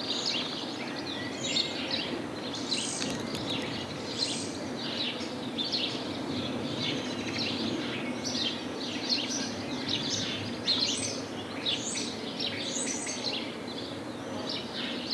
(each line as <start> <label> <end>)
0.0 sparrows are singing 15.1